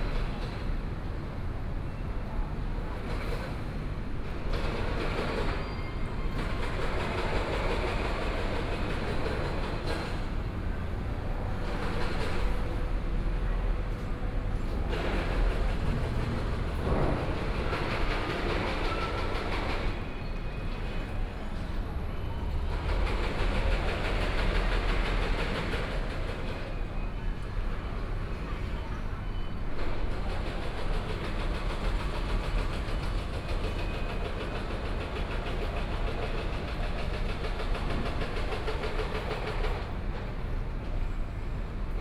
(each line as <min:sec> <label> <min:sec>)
0:00.0 station construction 0:42.0